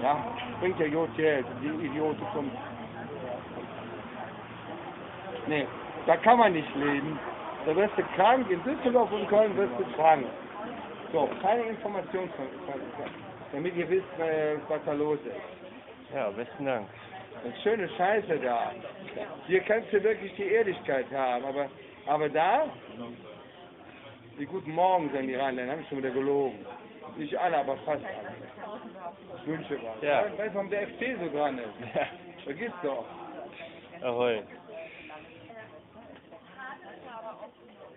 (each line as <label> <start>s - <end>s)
conspiracy theory of a homeless 0.0s - 37.9s